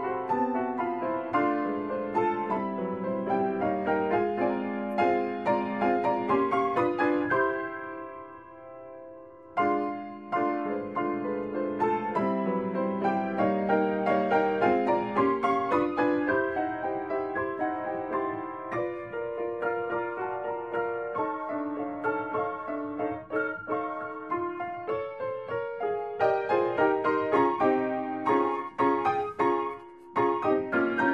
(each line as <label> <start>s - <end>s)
Piano 0.0s - 31.1s